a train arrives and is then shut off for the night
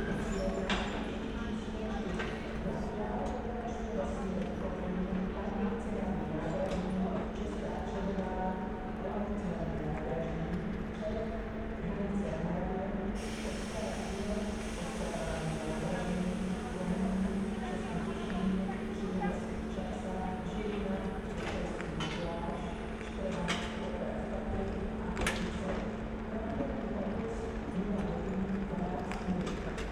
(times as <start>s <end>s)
13.2s 22.2s